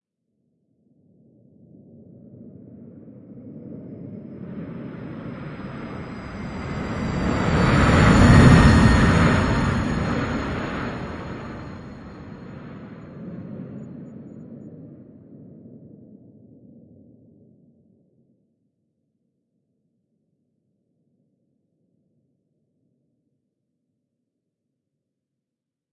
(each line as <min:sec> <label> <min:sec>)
0:03.4 airliner flying over 0:14.8